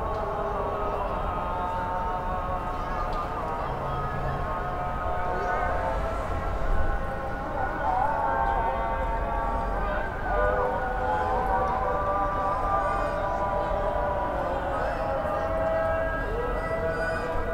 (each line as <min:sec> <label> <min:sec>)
0:00.0 prayer 0:17.5